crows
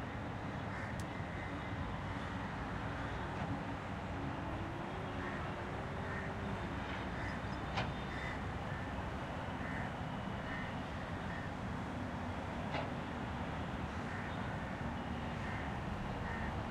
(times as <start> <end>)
8.1 8.8, 11.3 11.5, 15.4 16.6